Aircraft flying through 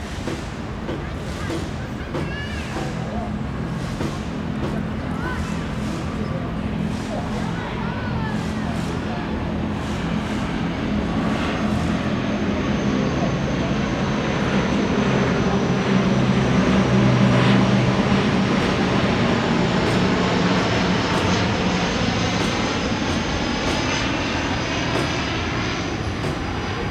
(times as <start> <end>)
5.4 26.9